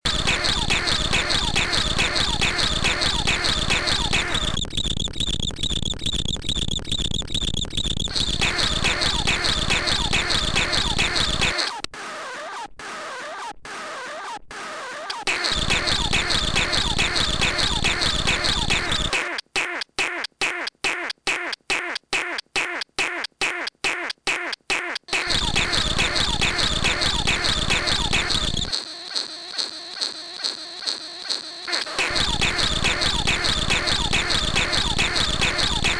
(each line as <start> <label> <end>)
0.1 living machine pattern 12.3
14.7 living machine pattern 19.4
25.0 living machine pattern 35.9